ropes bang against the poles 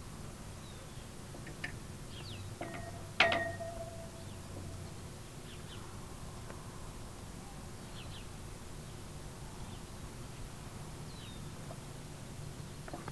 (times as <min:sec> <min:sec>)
0:02.6 0:04.1